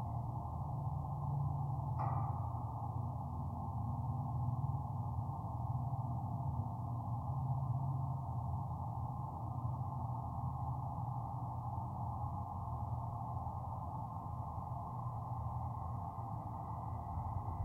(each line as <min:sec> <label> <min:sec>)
0:00.0 drone from the Labadie Energy Center power plant 0:17.6
0:00.0 plane 0:17.6